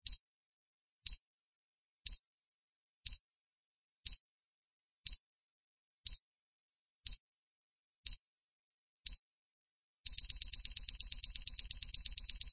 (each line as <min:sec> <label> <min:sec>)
0:00.0 digital countdown from a watch 0:00.2
0:03.0 digital countdown from a watch 0:03.2
0:04.0 digital countdown from a watch 0:04.2
0:05.0 digital countdown from a watch 0:05.2
0:06.0 digital countdown from a watch 0:06.2
0:07.0 digital countdown from a watch 0:07.2
0:08.0 digital countdown from a watch 0:08.2
0:10.1 digital countdown from a watch 0:12.5